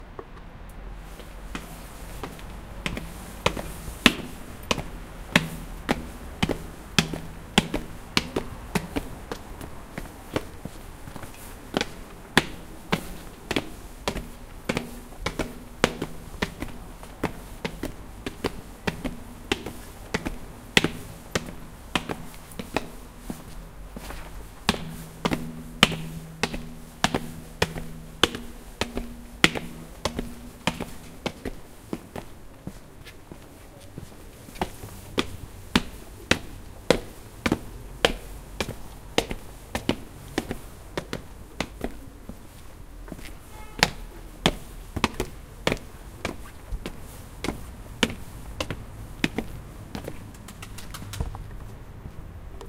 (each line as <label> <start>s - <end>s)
steps on stairs 0.0s - 52.6s